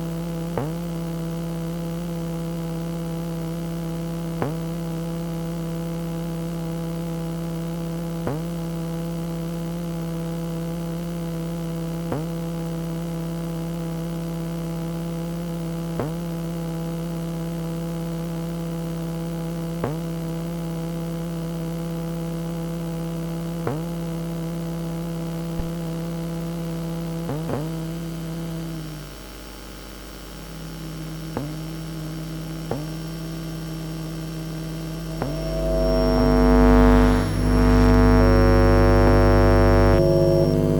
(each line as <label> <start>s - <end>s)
magnetic field song of a lift 34.6s - 40.7s